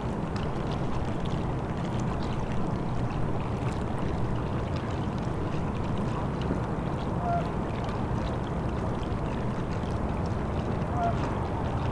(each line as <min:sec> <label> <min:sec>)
0:00.0 river 0:11.9
0:07.2 geese 0:07.5
0:10.9 geese 0:11.2